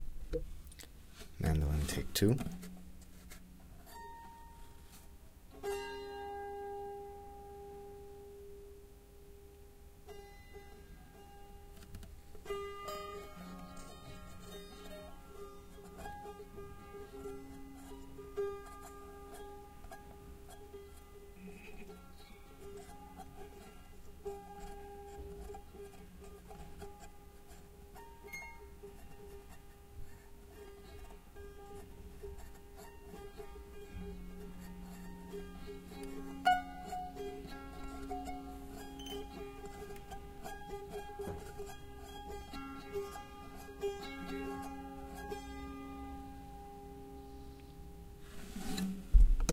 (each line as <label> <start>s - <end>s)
out of tune Bolivian mandolin 0.0s - 49.5s